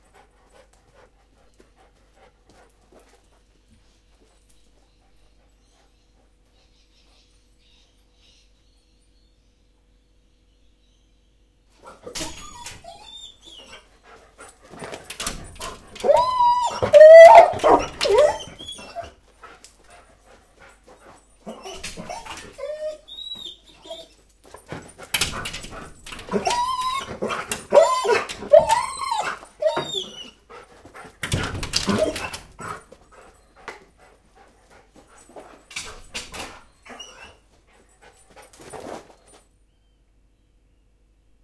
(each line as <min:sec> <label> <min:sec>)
0:12.0 Dog whining 0:13.9
0:15.9 Dog whining 0:19.2
0:21.4 Dog whining 0:24.2
0:26.1 Dog whining 0:30.5
0:31.2 throwing herself against the glass sliding door 0:32.7
0:31.8 Dog whining 0:32.8
0:36.8 Dog whining 0:37.4